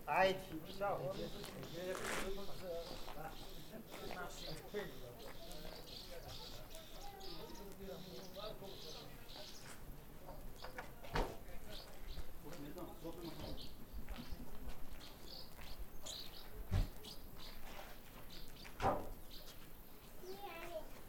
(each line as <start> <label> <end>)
0.0 voices of visitors and the policeman 21.0
0.0 workers who paint a hiking trail pass by 21.0